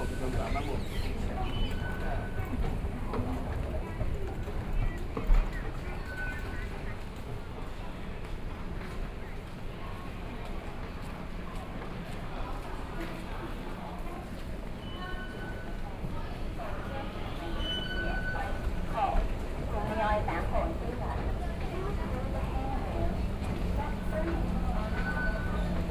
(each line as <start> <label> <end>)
0.0 Train Ride 25.9
0.0 walking in the station 25.9